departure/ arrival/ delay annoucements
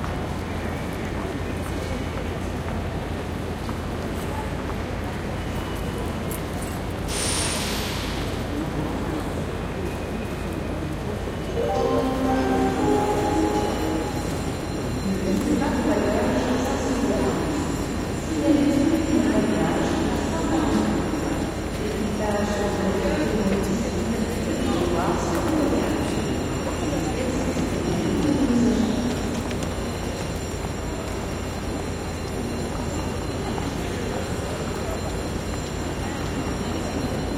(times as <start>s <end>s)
11.5s 21.4s